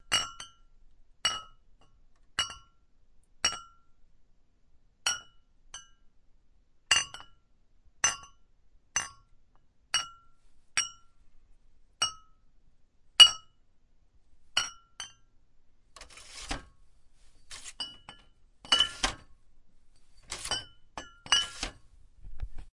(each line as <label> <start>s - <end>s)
Glass bottles colliding and being put in a bottle-holder 17.5s - 19.3s
Glass bottles colliding and being put in a bottle-holder 20.2s - 21.8s